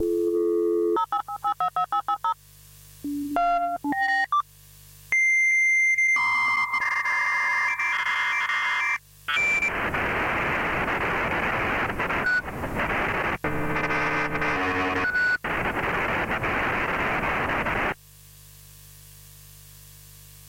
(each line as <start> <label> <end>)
0.0 dial-up modem sound 2.4
3.1 dial-up modem sound 4.4
5.9 dial-up modem sound 18.0